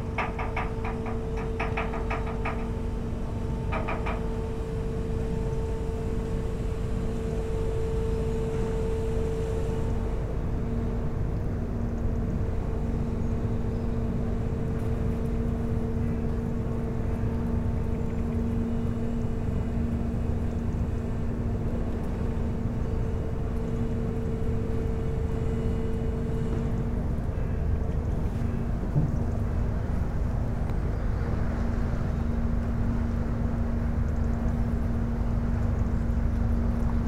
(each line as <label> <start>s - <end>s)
Boat going out the sluice 0.0s - 37.0s